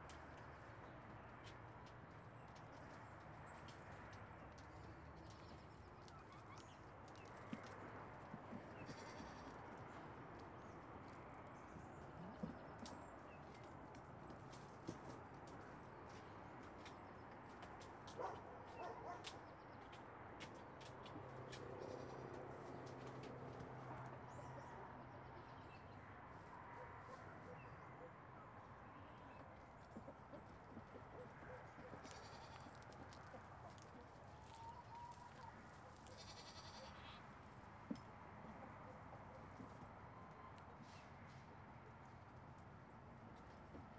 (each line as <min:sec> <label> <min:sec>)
0:00.0 goats Daisy and Roy fighting for their food 0:43.9
0:29.1 chickens also fighting for theirs 0:36.2